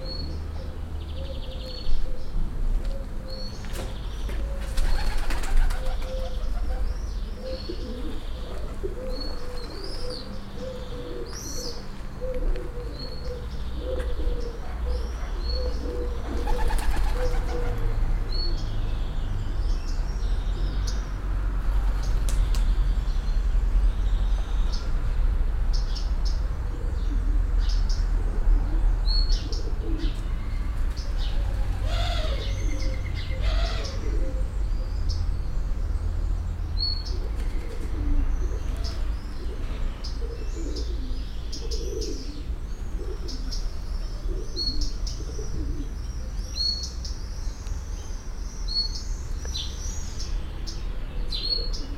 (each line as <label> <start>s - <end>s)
murmuring pigeons 0.0s - 18.6s
traffic from distance 0.0s - 51.9s
flaying pigeons 2.8s - 11.4s
flaying pigeons 15.8s - 17.9s
murmuring pigeons 26.7s - 30.2s
murmuring pigeons 31.1s - 34.7s
murmuring pigeons 37.0s - 46.6s
flaying pigeons 37.2s - 39.6s
murmuring pigeons 51.4s - 51.9s